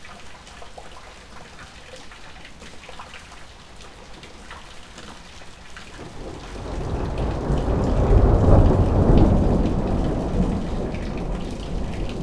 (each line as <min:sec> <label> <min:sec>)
0:00.0 rain from the roof is being collected in a large plastic container 0:12.2
0:06.0 Thunderstorm 0:12.2